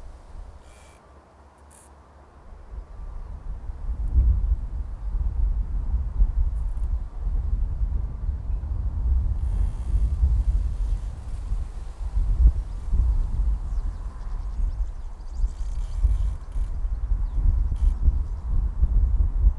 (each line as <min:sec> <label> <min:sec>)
0:00.0 creaking tree 0:02.2
0:00.0 wind 0:19.5
0:06.5 creaking tree 0:07.0
0:09.2 creaking tree 0:18.5
0:09.4 birds 0:18.6